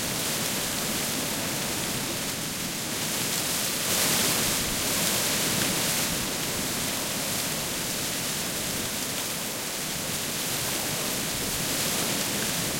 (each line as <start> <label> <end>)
0.0 leaves rustling in the trees and bushes 12.7